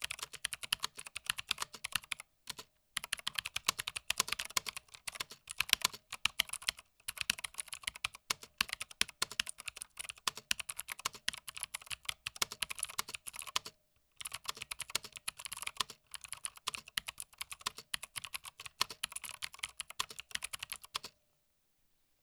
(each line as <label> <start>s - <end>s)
Typing quickly on a Mechanical Keyboard 0.0s - 21.2s